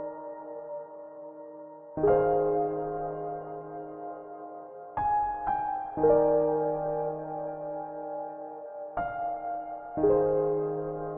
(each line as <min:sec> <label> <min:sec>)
0:00.0 piano loop 0:11.1